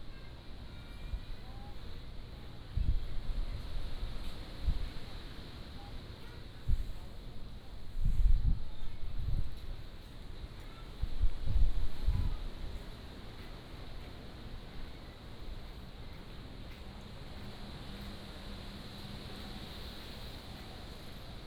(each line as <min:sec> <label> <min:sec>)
0:00.0 Wind 0:21.4
0:13.4 Traffic Sound 0:21.4